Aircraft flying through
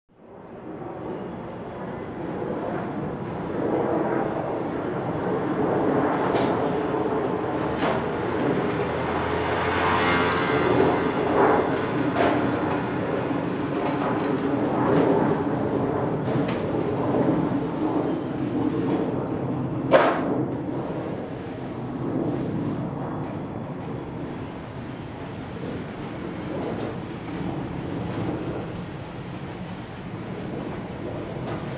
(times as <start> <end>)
1.6 19.5